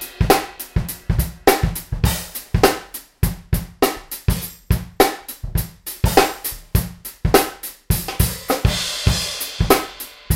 hi hats w tambourine on top 0:00.0 - 0:10.3
small snare 0:03.8 - 0:04.3

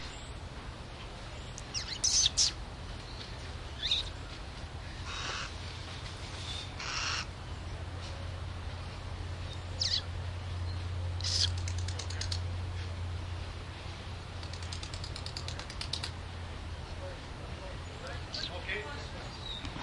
owl 0:01.6 - 0:02.6
owl 0:03.8 - 0:04.1
owl 0:05.0 - 0:05.6
owl 0:06.5 - 0:07.3
owl 0:09.8 - 0:10.1
owl 0:11.2 - 0:12.4

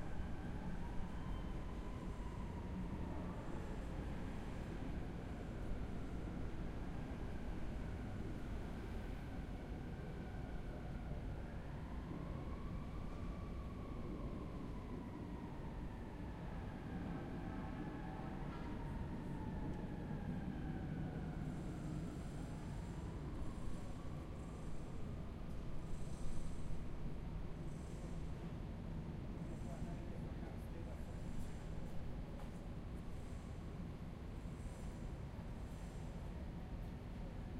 traffic 0:00.0 - 0:37.5
subway sounds from street grate 0:13.7 - 0:37.5

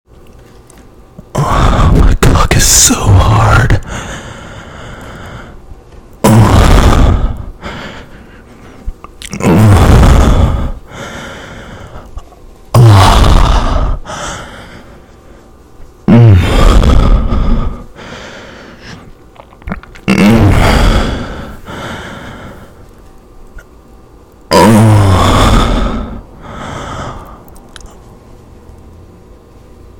Deep moans 0:01.2 - 0:05.6
heavy breathing 0:01.3 - 0:05.7
Deep moans 0:06.2 - 0:08.2
heavy breathing 0:06.3 - 0:19.2
Deep moans 0:08.9 - 0:15.0
Deep moans 0:16.0 - 0:23.0
heavy breathing 0:20.1 - 0:23.0
Deep moans 0:24.5 - 0:27.5
heavy breathing 0:24.9 - 0:27.6

